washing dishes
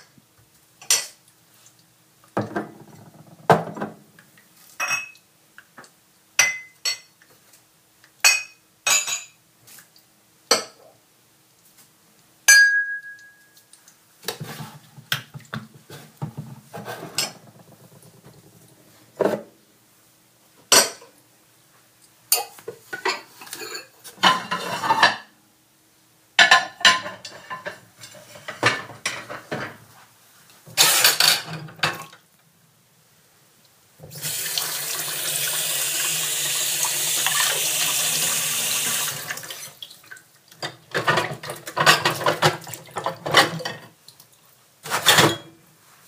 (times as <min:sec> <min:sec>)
0:00.8 0:05.2, 0:14.2 0:19.6, 0:22.3 0:25.3, 0:26.4 0:29.9, 0:30.6 0:32.3, 0:34.0 0:46.0